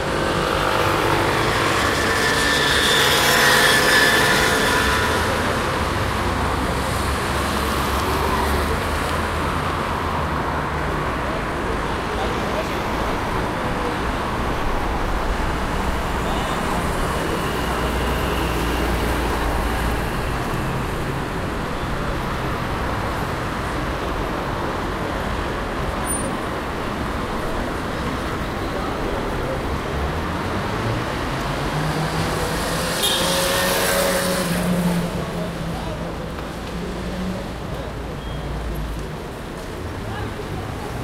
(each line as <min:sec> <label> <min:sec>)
0:00.0 Cars 0:41.0